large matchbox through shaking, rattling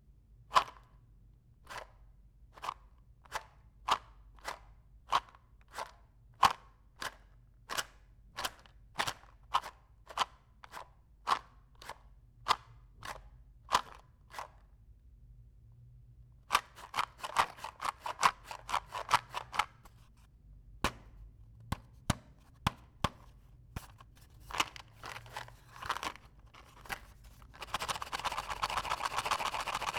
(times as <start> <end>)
16.5 20.2, 23.8 29.9